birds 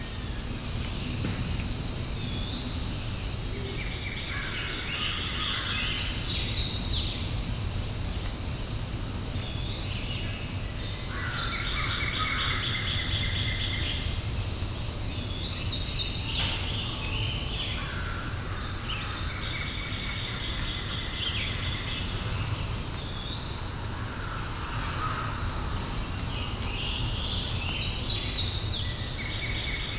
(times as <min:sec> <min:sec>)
0:09.4 0:29.9